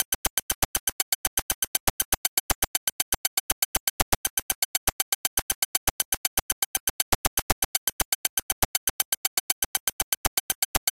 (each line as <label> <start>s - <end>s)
percussion 0.0s - 10.9s